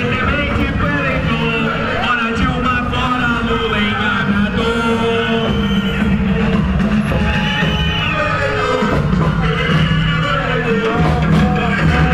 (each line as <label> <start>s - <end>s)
Thousands of participants in a demonstration 0.0s - 12.1s
horns 0.0s - 12.1s
whistles 5.2s - 8.5s